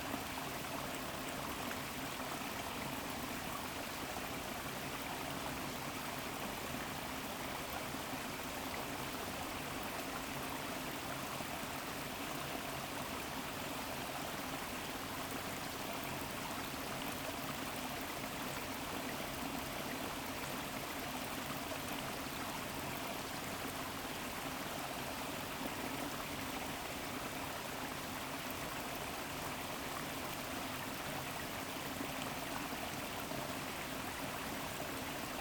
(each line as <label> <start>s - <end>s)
streamflow from the valley of the mills 0.0s - 35.4s